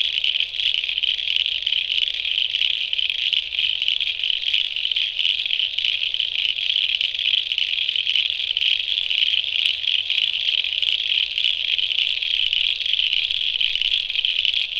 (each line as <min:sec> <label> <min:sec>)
0:00.0 frogs go from quiet to deafening 0:14.7